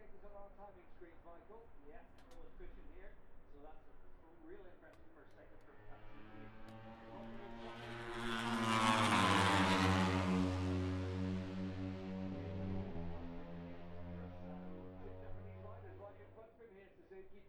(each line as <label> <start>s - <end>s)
moto three 0.0s - 16.6s